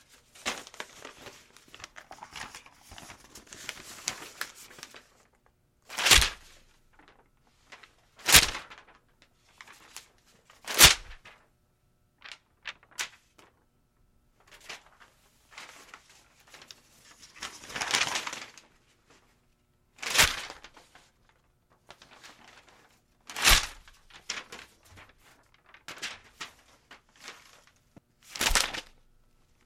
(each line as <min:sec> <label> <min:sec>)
0:28.3 throw paper 0:29.0